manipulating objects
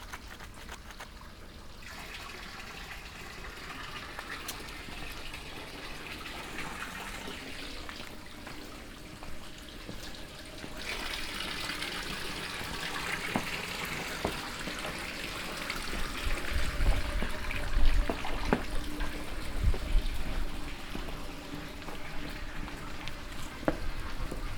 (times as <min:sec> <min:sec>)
0:00.0 0:01.2